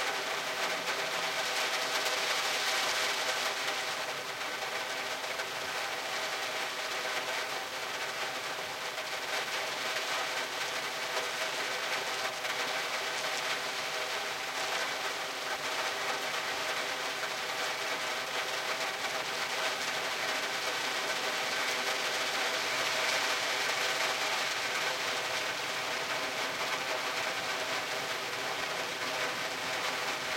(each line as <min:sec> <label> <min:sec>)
0:00.0 rain hitting the windows inside my car 0:30.3